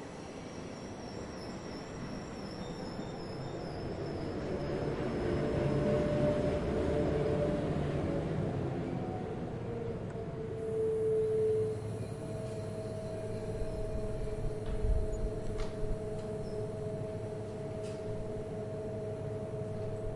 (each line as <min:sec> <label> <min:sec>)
0:00.0 train departing station 0:20.1